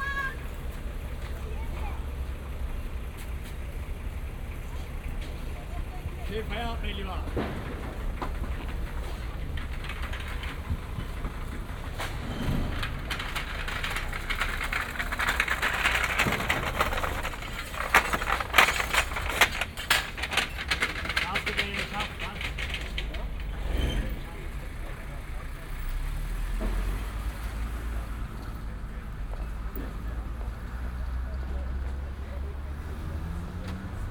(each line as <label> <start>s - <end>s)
cleanup 0.0s - 34.1s
man regulates traffic 3.3s - 7.6s
man regulates traffic 17.1s - 23.4s